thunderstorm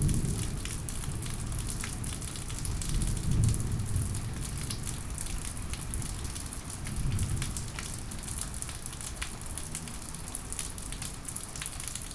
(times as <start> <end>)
0.0 7.8